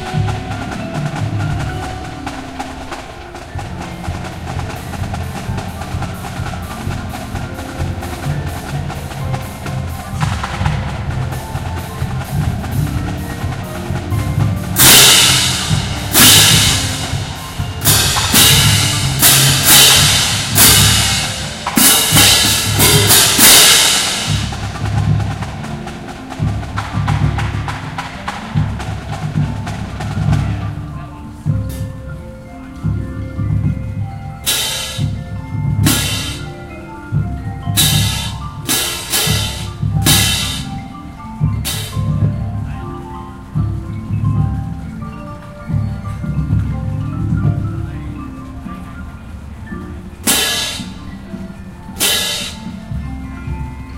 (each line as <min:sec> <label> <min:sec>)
0:00.0 cymbal 0:25.7
0:00.0 xylophone 0:53.9
0:34.4 cymbal 0:35.2
0:35.8 cymbal 0:42.3
0:50.2 cymbal 0:51.1
0:52.0 cymbal 0:52.9